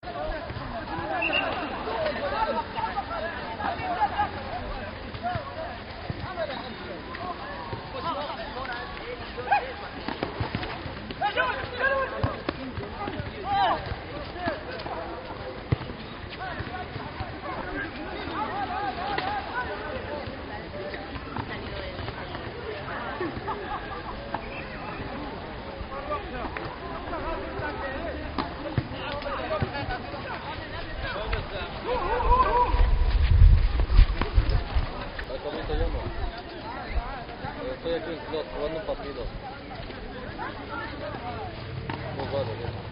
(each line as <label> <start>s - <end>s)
play a football game 0.0s - 42.9s
shouting 31.8s - 32.9s